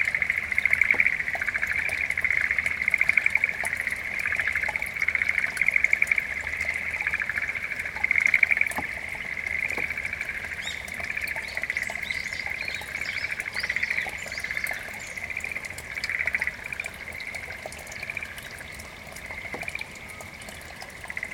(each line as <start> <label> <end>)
0.0 river 21.3
0.0 tiny invisible frogs that would sing out in unison 21.3